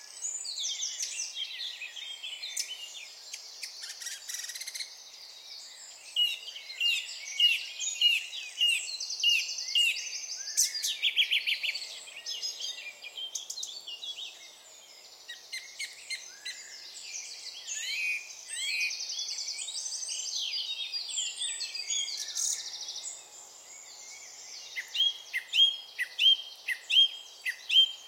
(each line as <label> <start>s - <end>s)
song thrush 0.0s - 28.0s
wren 0.0s - 28.0s